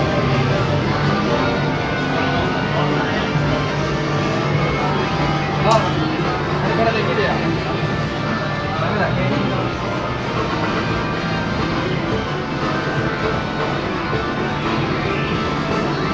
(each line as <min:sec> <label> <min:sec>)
0:00.0 machines for kids to win manga cards 0:16.1